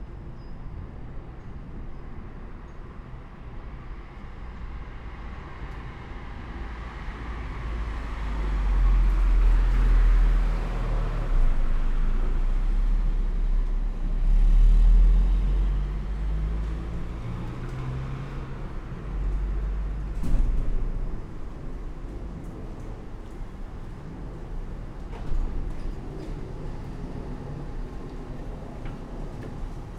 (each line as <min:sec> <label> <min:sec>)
0:00.0 cars passing by in the street 0:29.9